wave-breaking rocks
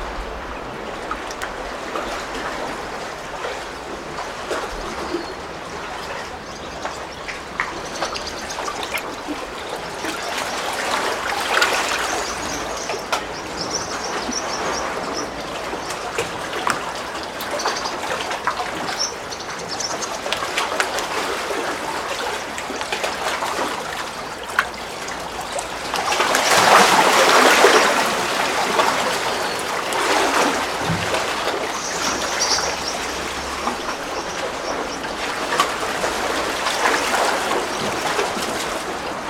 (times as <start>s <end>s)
0.0s 5.0s